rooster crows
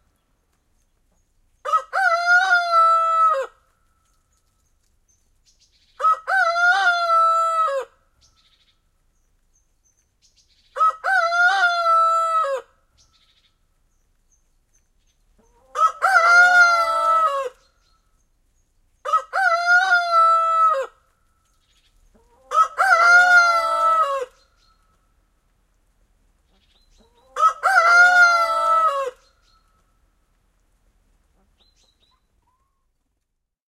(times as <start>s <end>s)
1.7s 3.6s, 6.0s 8.0s, 10.8s 12.8s, 15.7s 17.6s, 19.1s 21.0s, 22.4s 24.4s, 27.2s 29.3s